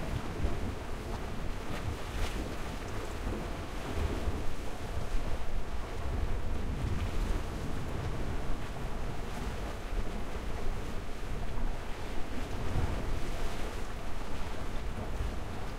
0.0s Waves 15.7s

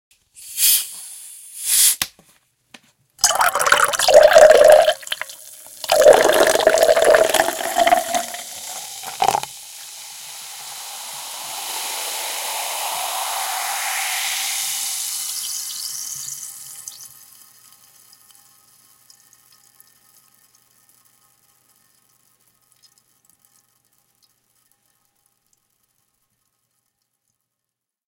3.2s Pouring carbonated water into a thin-walled drinking glass 12.4s
3.2s fizzle 23.2s

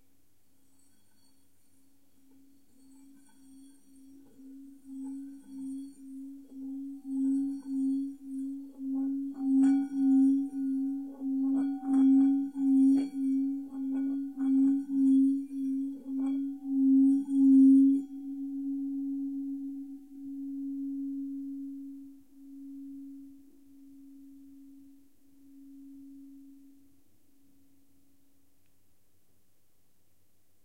0.6s Tibetan bowl rubbing rim 23.4s

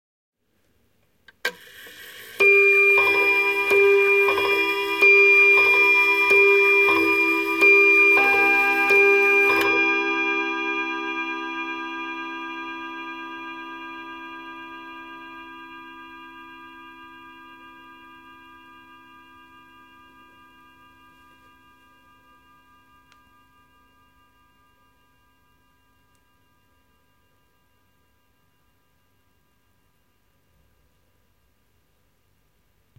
1.9s pendulum 12.0s
2.1s Antique table clock (probably early 20th century) chiming six times 25.8s

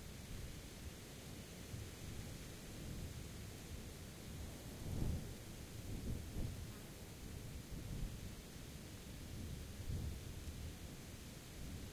0.0s wind 11.9s

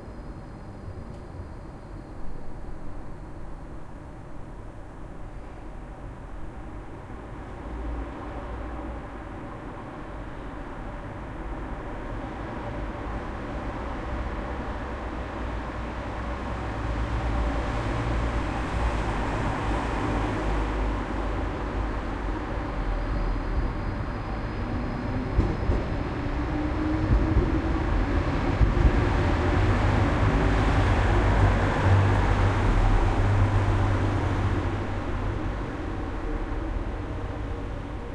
0.0s tram arrives in the distance 38.1s

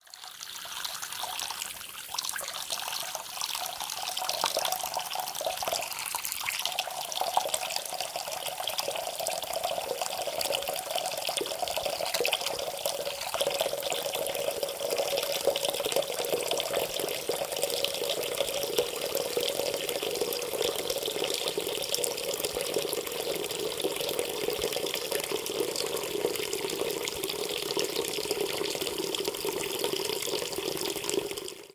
0.0s Filling sink with water from water faucet 31.7s

